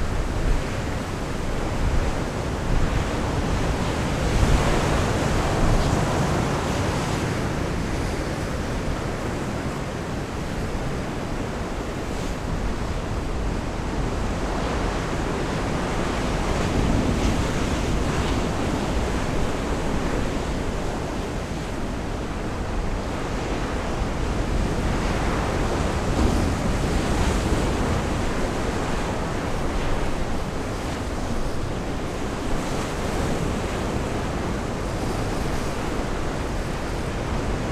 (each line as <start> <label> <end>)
0.0 wild waves crush into the rocks 37.7